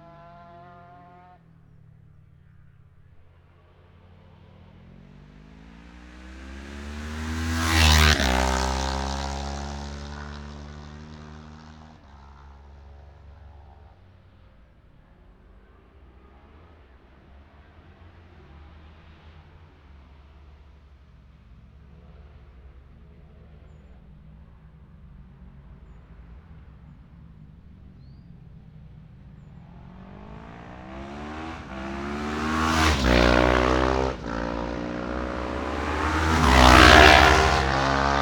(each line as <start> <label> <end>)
22.4 600-650cc twins practice 38.2